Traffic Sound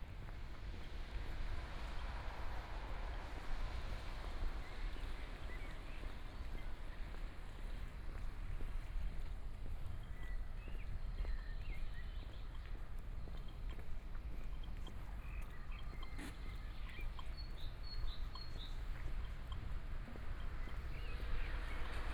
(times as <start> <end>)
17.7 22.1